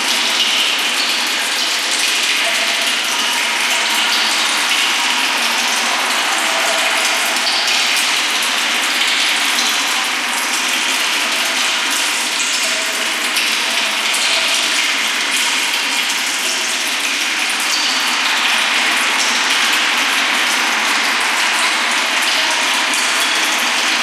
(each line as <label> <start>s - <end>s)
reverbed subway 3.4s - 9.0s